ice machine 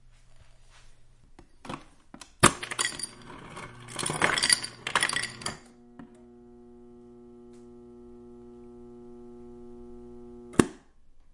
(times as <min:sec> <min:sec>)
0:02.4 0:10.6